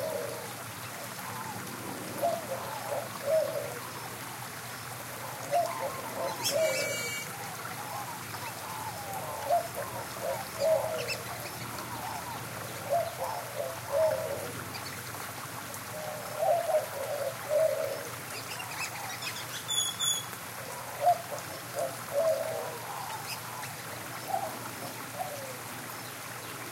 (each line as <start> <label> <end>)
0.0 Inca Dove 26.7
0.0 White-winged Dove 26.7
0.0 small stream 26.7
5.2 Great-tailed Grackle 15.0
16.0 Great-tailed Grackle 25.6